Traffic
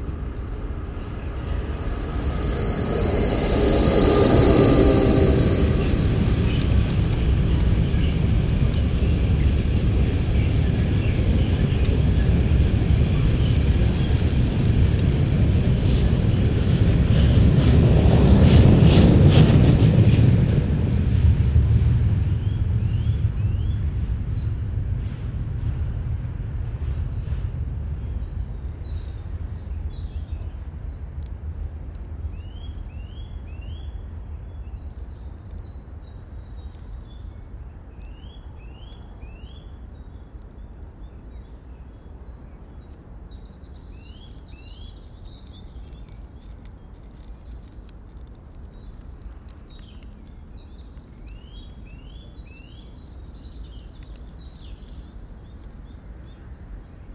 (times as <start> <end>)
0.0 10.3